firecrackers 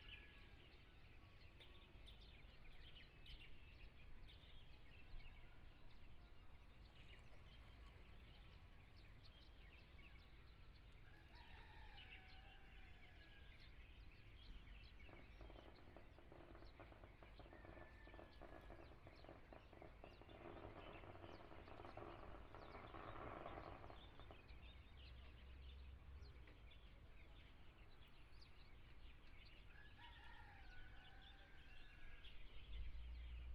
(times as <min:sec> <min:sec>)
0:15.2 0:24.6